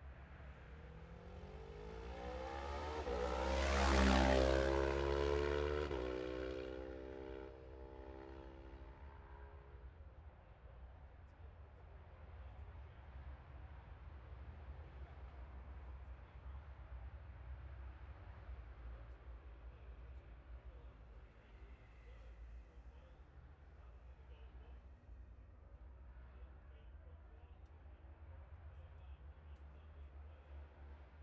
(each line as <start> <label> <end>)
0.0 road racing 10.1